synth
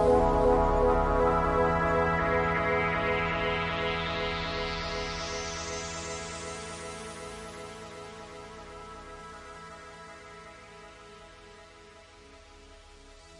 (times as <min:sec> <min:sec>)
0:00.0 0:06.6